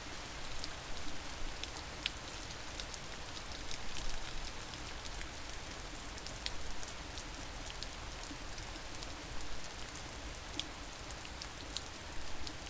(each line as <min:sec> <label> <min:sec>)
0:00.0 rain 0:12.6